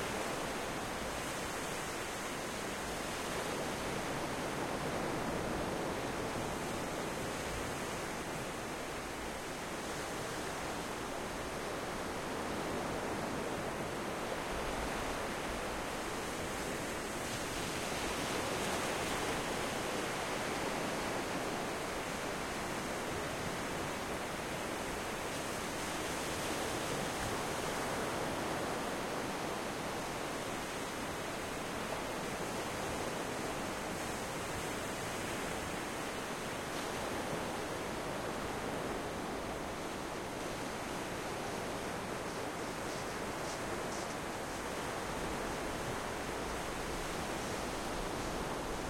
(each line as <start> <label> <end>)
0.0 Close waves on English Channel pebble beach 48.8